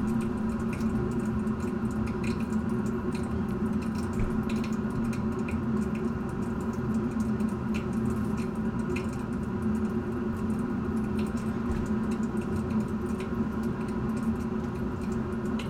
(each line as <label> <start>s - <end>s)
Pipe from municpal heating system 0.0s - 15.6s